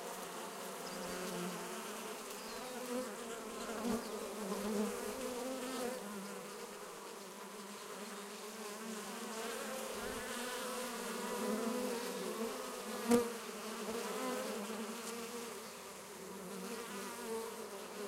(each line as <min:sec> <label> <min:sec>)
0:00.0 European honey bees (Apis mellifera) getting a drink 0:18.0
0:02.2 Several species of birds 0:03.0